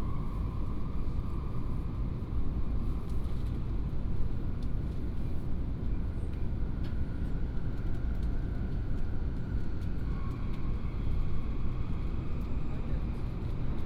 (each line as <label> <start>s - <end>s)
High - speed railway 0.0s - 13.8s